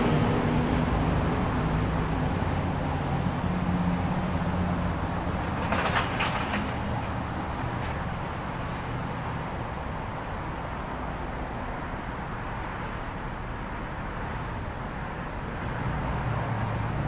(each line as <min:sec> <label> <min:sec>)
0:00.0 Cars and trucks passing by on the road 0:17.0